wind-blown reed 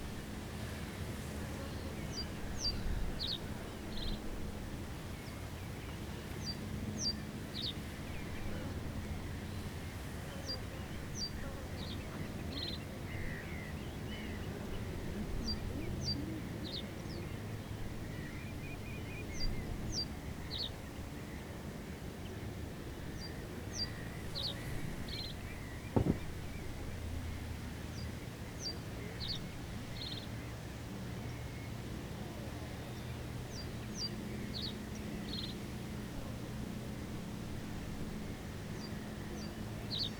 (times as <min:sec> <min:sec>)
0:24.6 0:27.7